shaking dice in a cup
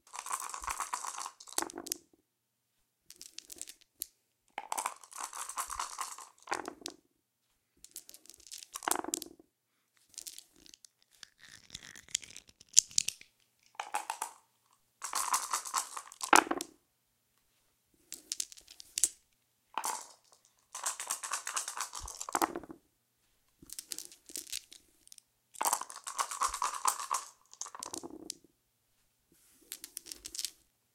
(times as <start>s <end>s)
0.1s 2.0s, 3.1s 3.9s, 4.6s 6.9s, 7.9s 9.3s, 10.1s 14.4s, 15.0s 16.7s, 18.1s 19.2s, 19.8s 22.8s, 23.6s 28.4s, 29.6s 30.6s